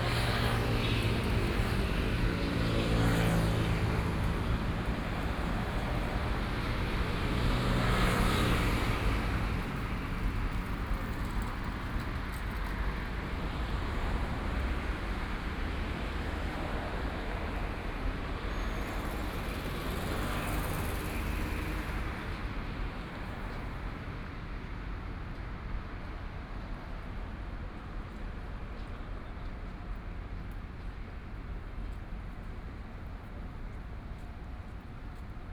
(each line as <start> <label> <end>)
0.0 Traffic Sound 24.1